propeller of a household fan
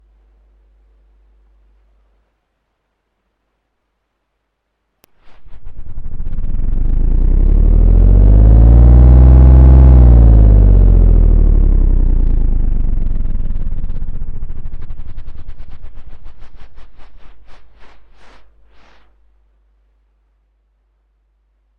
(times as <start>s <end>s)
5.3s 18.6s